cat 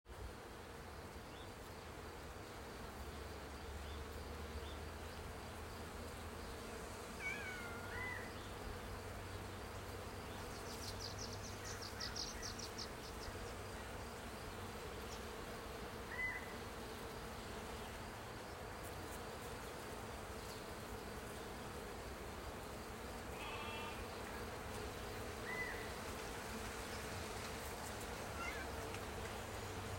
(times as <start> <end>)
7.2 8.2, 28.4 28.7